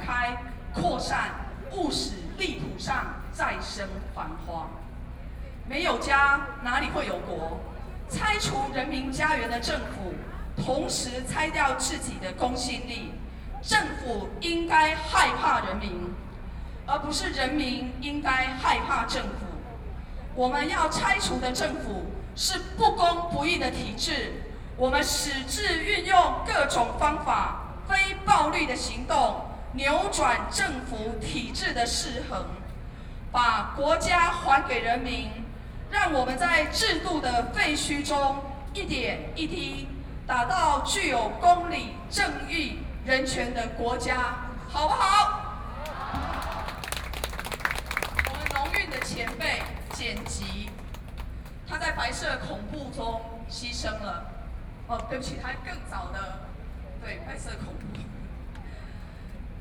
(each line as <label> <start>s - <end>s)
Protest 45.8s - 51.2s